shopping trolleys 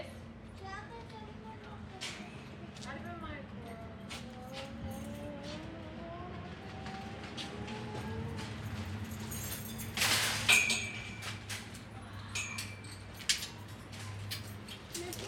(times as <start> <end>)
6.7 15.2